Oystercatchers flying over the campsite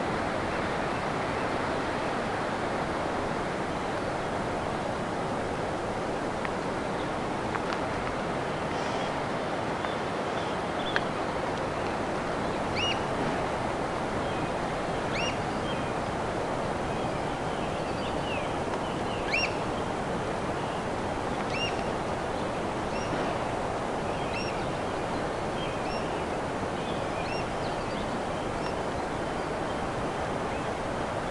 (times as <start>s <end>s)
11.9s 13.1s, 13.7s 16.4s, 17.0s 30.9s